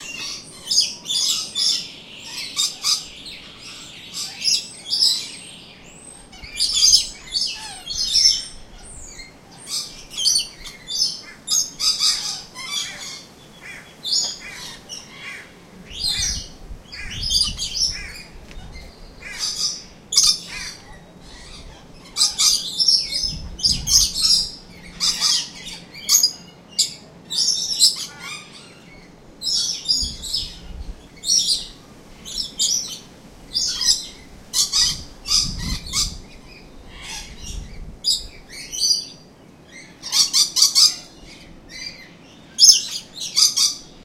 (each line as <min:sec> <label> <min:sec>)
0:00.0 Calls from a group of Rainbow Lorikeets 0:44.0
0:00.0 other birds in the background 0:44.0